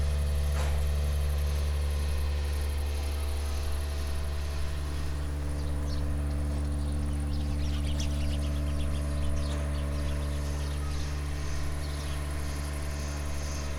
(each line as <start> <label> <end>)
0.0 cow shed drone 13.7